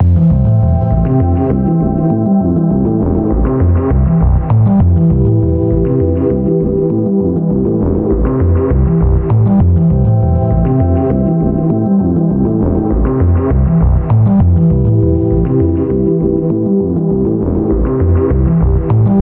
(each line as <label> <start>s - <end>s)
bass 0.0s - 19.2s